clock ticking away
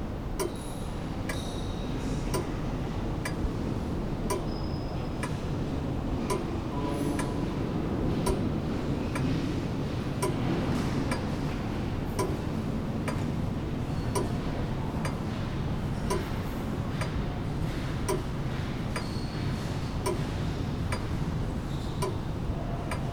0:04.3 0:05.4, 0:06.3 0:06.6, 0:08.2 0:08.5, 0:10.2 0:10.5, 0:12.2 0:12.5, 0:18.0 0:18.4, 0:22.0 0:22.2, 0:22.8 0:23.1

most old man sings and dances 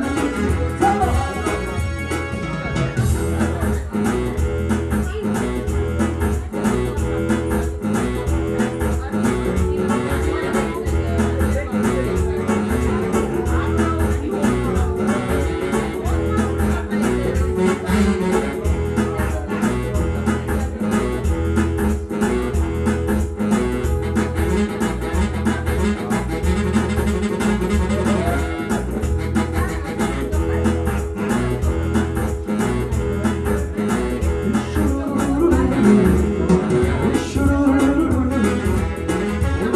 0:00.0 0:02.3, 0:33.7 0:39.7

